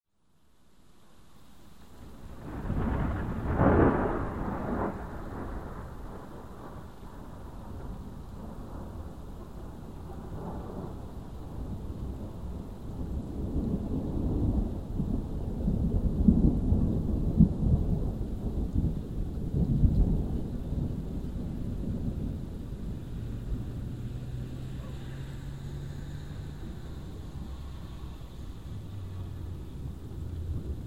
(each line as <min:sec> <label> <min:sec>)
0:02.3 thunder sound 0:08.0